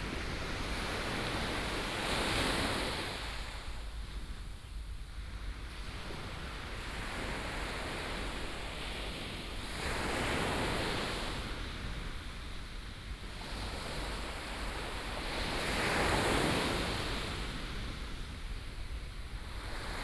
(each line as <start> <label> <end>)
12.3 waves 20.0